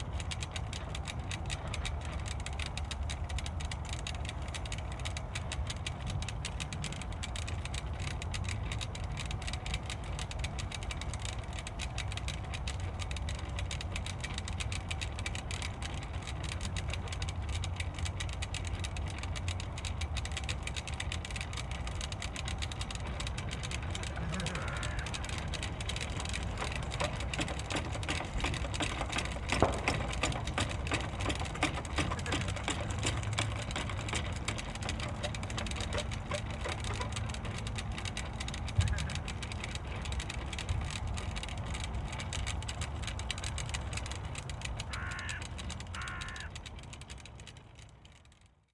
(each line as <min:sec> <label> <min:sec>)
0:00.0 wind wheel build of old bike parts 0:48.7